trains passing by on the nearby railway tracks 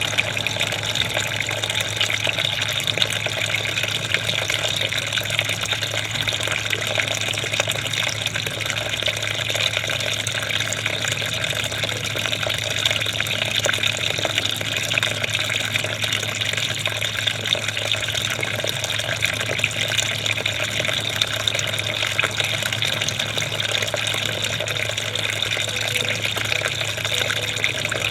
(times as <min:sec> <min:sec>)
0:00.0 0:05.4